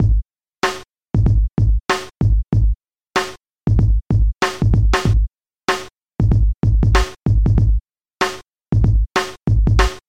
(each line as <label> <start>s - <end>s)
drums 0.0s - 10.0s